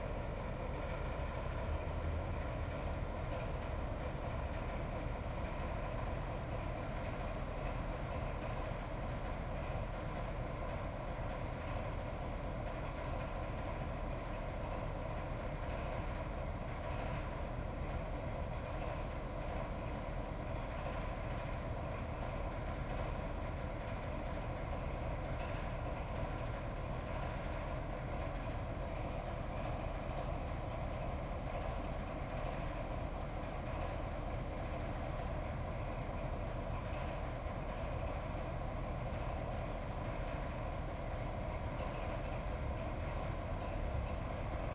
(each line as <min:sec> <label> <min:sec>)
0:00.0 small maneuver diesel locomotive 0:44.7